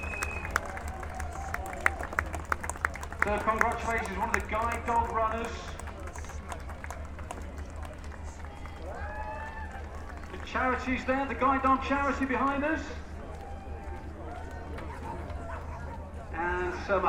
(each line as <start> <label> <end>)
3.1 event commentator 6.6
10.3 event commentator 13.2
16.2 event commentator 17.0